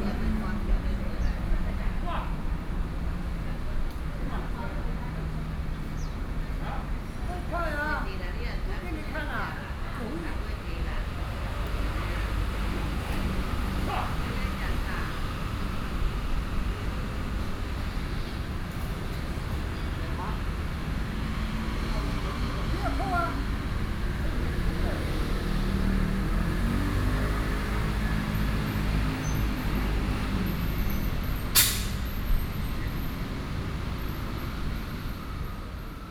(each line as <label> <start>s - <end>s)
old people in the chat 0.0s - 17.8s
Traffic Noise 0.0s - 36.1s
old people in the chat 19.7s - 26.8s